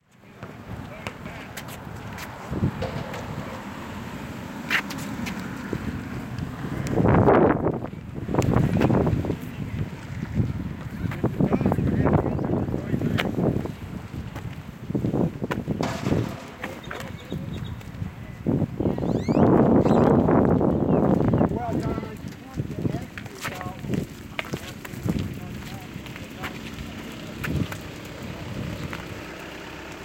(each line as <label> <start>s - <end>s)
walking sound 0.1s - 18.2s
cars driving 0.2s - 20.9s
basketball playing 0.4s - 7.0s
birds chirping 15.7s - 22.1s
basketball playing 15.8s - 17.9s
walking sound 19.4s - 30.0s
cars driving 23.7s - 30.0s